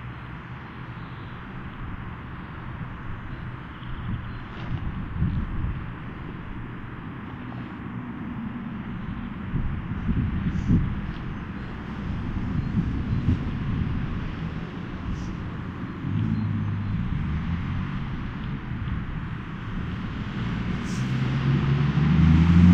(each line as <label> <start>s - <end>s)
traffic 0.0s - 22.7s